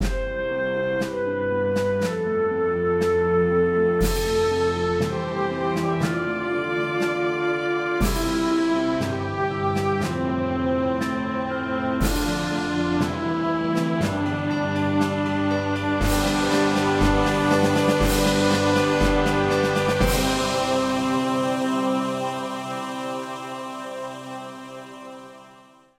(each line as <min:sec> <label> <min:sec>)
0:00.0 Small orchestral theme 0:25.9